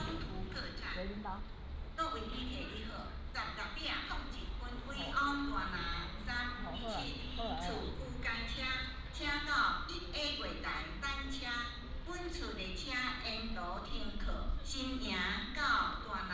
Station broadcasting 0:00.0 - 0:01.5
train leaves the station 0:00.0 - 0:16.3

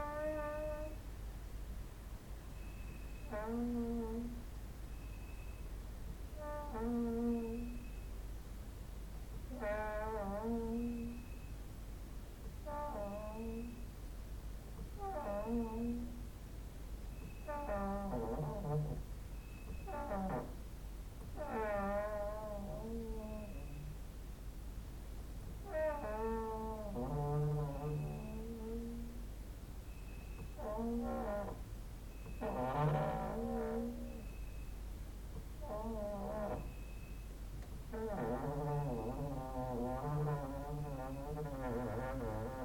creaking with wooden doors 0:00.0 - 0:01.0
creaking with wooden doors 0:02.6 - 0:04.4
creaking with wooden doors 0:06.4 - 0:08.0
creaking with wooden doors 0:09.4 - 0:11.5
creaking with wooden doors 0:12.6 - 0:13.9
creaking with wooden doors 0:14.8 - 0:16.3
creaking with wooden doors 0:17.1 - 0:24.0
cricket outside 0:19.3 - 0:19.9
creaking with wooden doors 0:25.6 - 0:29.2
creaking with wooden doors 0:29.9 - 0:34.6
creaking with wooden doors 0:35.6 - 0:37.3
creaking with wooden doors 0:37.9 - 0:42.6

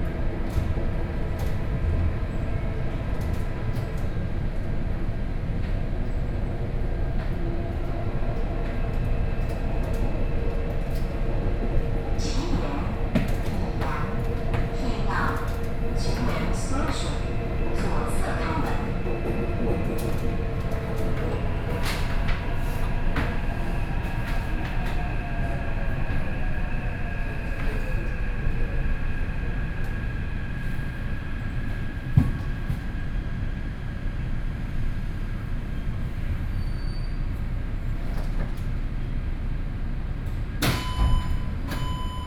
subway 0:00.0 - 0:42.2

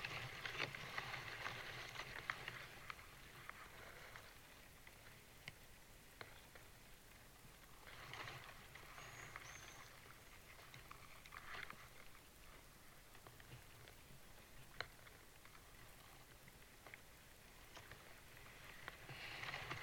birch tree in gentle wind 0:00.0 - 0:19.8

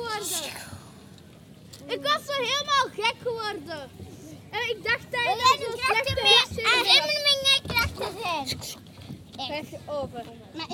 Children playing in a boat 0:00.0 - 0:10.7

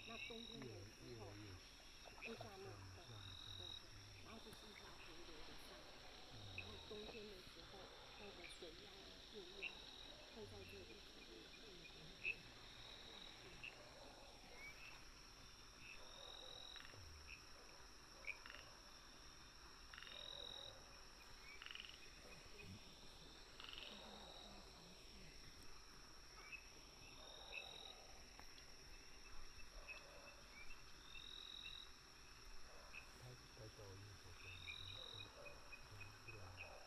Frogs chirping 0:00.0 - 0:36.8
Dogs barking 0:29.7 - 0:30.5
Dogs barking 0:33.9 - 0:36.8

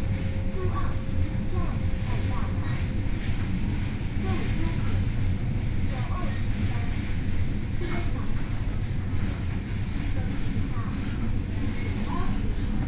Local Train 0:00.0 - 0:12.8

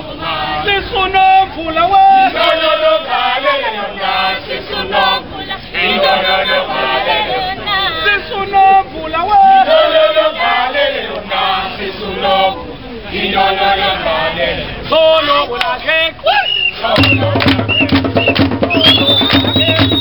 Street performers 0:00.0 - 0:20.0

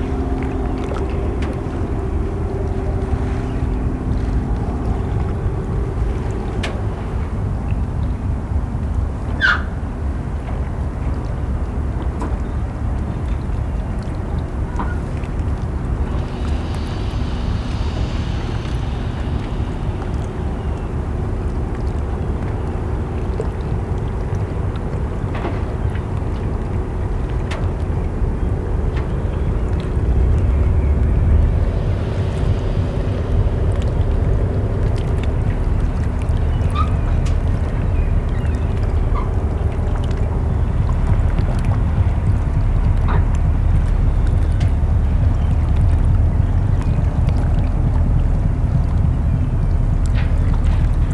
Walking on the pier 0:00.0 - 0:51.1
ferry going to Denmark 0:00.0 - 0:51.1
water dripping 0:00.0 - 0:51.1

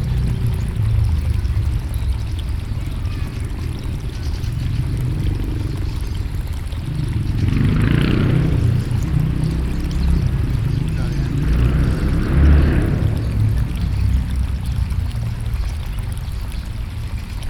water 0:00.0 - 0:17.4

